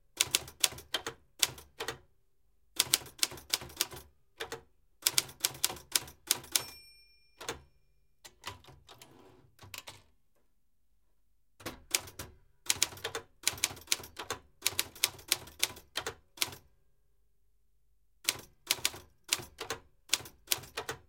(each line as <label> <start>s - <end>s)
bell at the end of the line 6.6s - 7.9s
old manual typewriter 11.6s - 16.6s
old manual typewriter 18.2s - 21.0s